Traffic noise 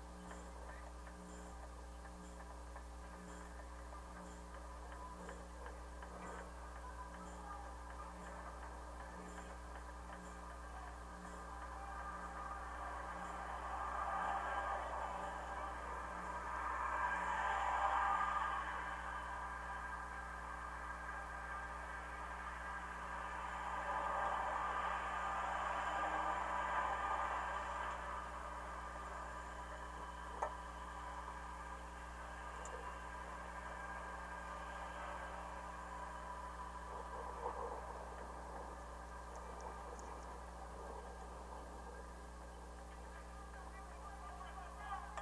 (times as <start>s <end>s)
10.6s 41.9s